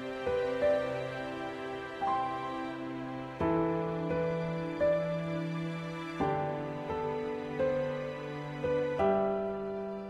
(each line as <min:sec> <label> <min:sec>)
0:00.0 Piano 0:10.0
0:00.0 String 0:10.0